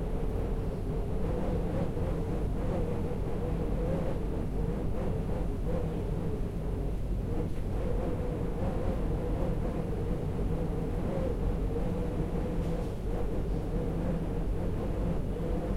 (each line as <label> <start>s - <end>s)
Wind Through The Door 0.0s - 15.7s